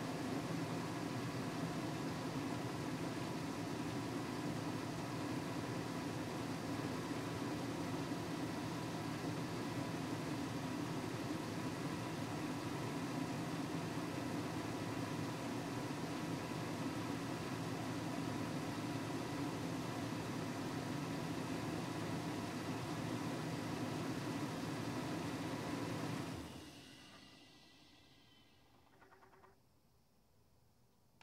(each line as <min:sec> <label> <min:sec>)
0:26.6 extended idle 0:29.6